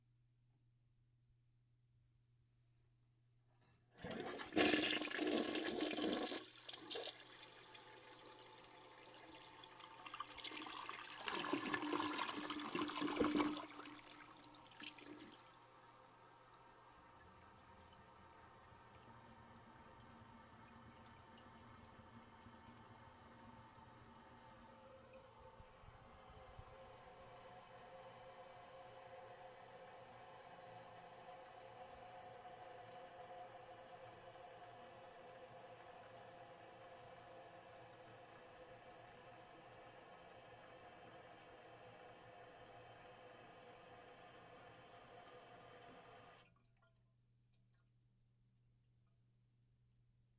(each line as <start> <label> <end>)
4.0 toilet flushing 46.5